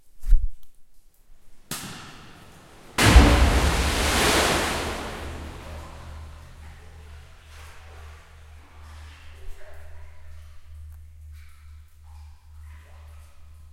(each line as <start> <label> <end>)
1.6 water 13.7
1.7 hit 7.0